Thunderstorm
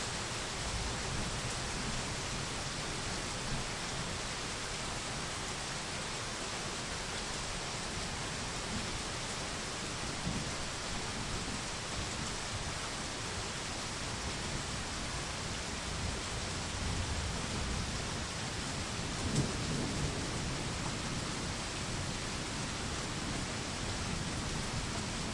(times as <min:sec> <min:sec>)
0:15.9 0:25.3